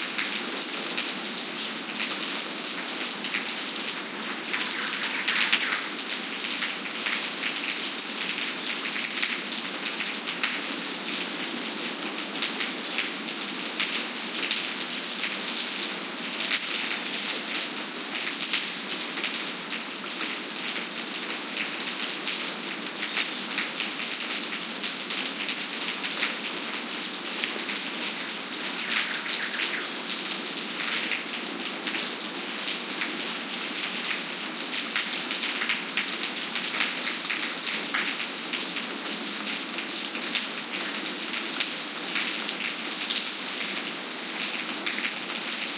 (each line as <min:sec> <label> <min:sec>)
0:00.0 rain on pavement 0:45.7
0:04.3 bird callings 0:06.1
0:28.5 bird callings 0:30.3